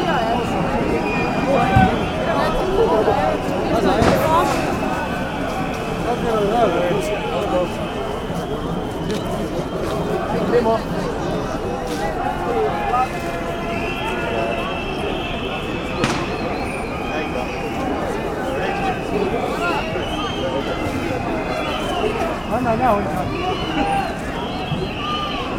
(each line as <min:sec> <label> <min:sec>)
0:00.0 police on horses 0:25.5
0:14.1 police chopper 0:18.4